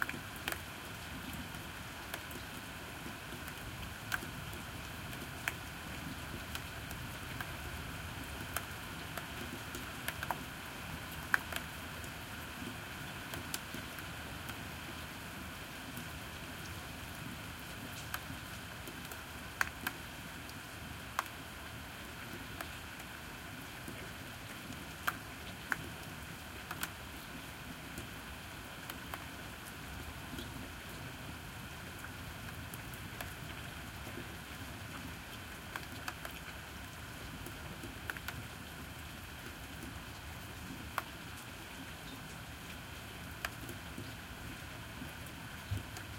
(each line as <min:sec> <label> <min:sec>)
0:00.0 Rain 0:46.1